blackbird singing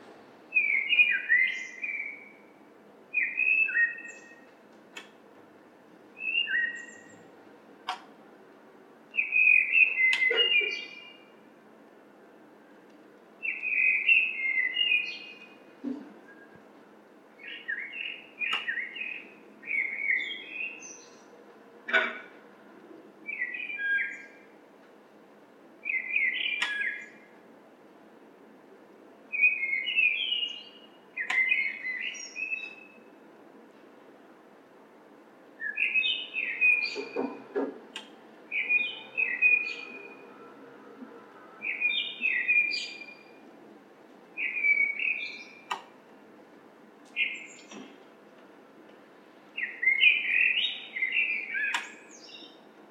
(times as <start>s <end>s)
0.5s 2.5s, 3.2s 4.5s, 6.2s 7.2s, 9.2s 11.3s, 13.4s 15.6s, 17.4s 21.3s, 23.3s 24.4s, 25.8s 27.3s, 29.3s 33.1s, 35.6s 37.5s, 38.5s 40.5s, 41.6s 43.4s, 44.4s 45.8s, 47.2s 47.9s, 49.6s 52.6s